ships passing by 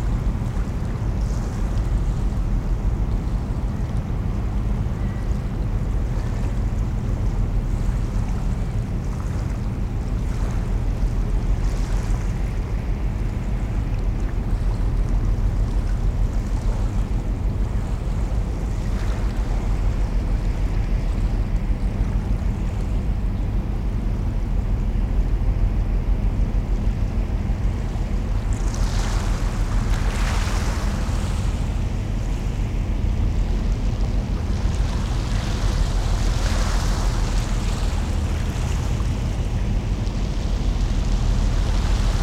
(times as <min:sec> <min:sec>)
0:27.7 0:42.2